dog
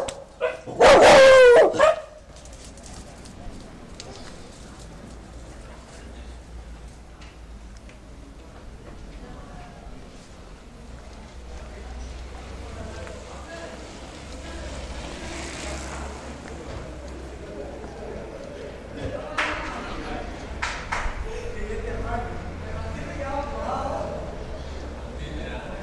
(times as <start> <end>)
0.0 2.1